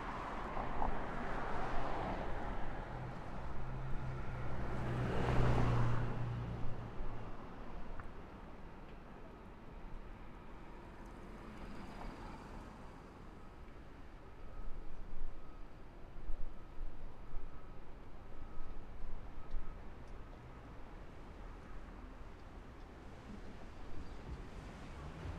0.0s traffic 25.3s
11.0s fire truck 25.3s
13.2s siren 22.2s

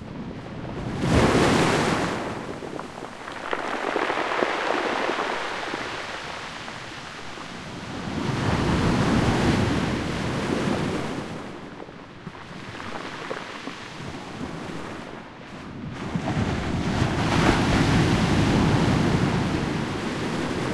0.0s waves breaking on a pebble beach 20.7s
1.0s foamy backwash 11.6s

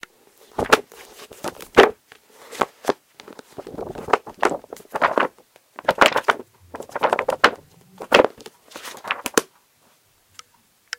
0.4s flapping the pages 9.5s
0.4s Tossing a paperback book around 9.5s

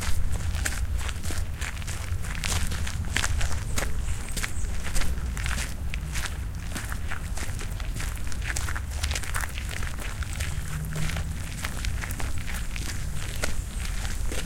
0.0s steps in the woods 14.4s
3.0s birds on background 6.5s
12.1s birds on background 14.4s

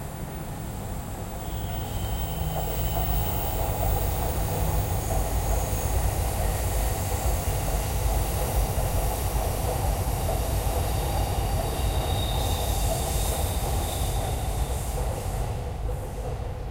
0.0s subway 16.7s

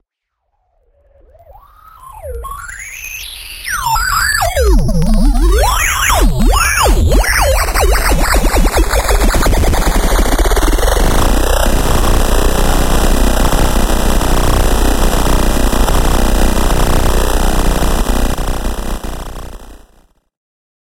0.9s Synth 19.7s
3.7s RISERS 19.6s

